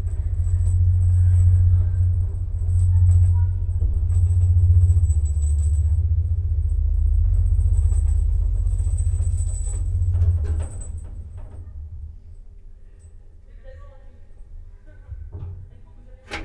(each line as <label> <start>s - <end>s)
ride in the narrow elevator of an appartment house 0.0s - 16.4s